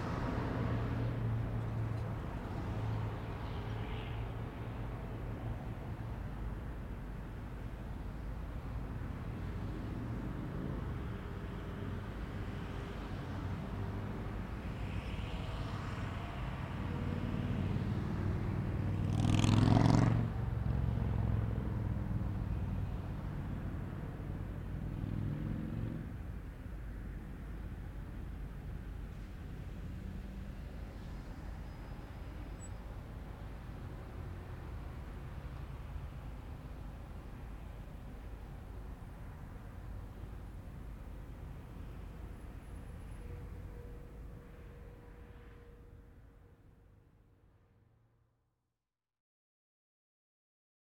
busy intersection 0.0 - 48.0
motorcycle comes to intersection and speeds away 16.9 - 22.2

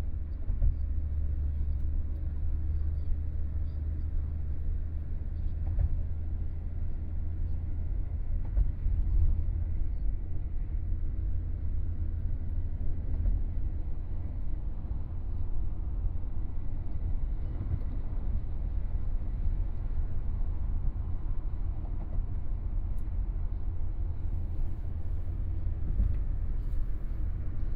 Taxi 0.0 - 27.7

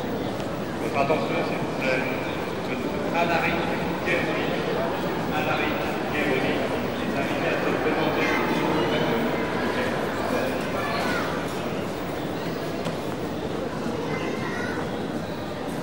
train arrives 0.0 - 15.8
voices 0.0 - 15.8
announcements 0.3 - 13.9
station waggons 1.2 - 12.2

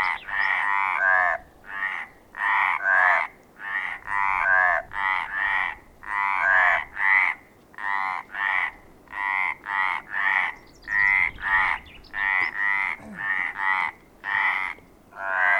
Crazy frogs 0.5 - 10.6
Crazy frogs 11.2 - 15.5

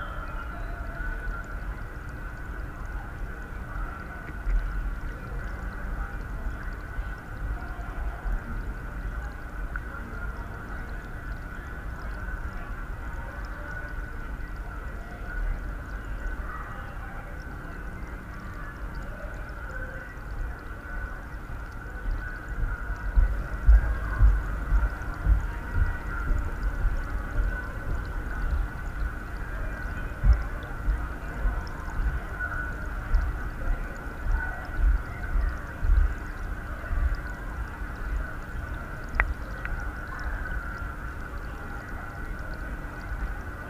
water 0.0 - 43.6

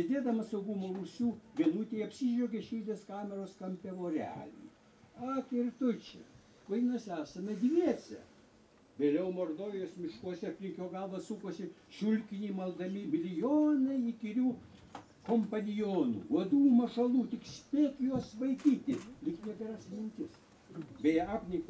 poet Algimantas Baltakis speaks 0.0 - 8.4
poet Algimantas Baltakis speaks 9.0 - 14.6
poet Algimantas Baltakis speaks 15.2 - 21.6

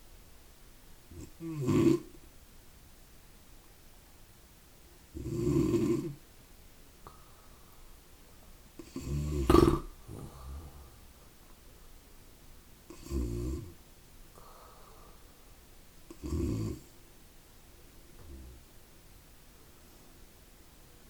breathing in the night 7.0 - 8.1
breathing in the night 10.0 - 11.2
breathing in the night 14.3 - 15.6

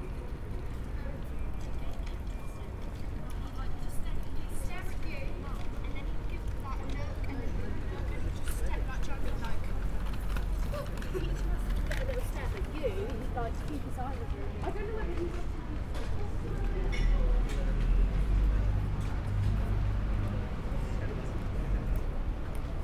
buses and taxis 0.0 - 22.8
lovely bikes 0.0 - 22.8
people walking 0.2 - 22.8

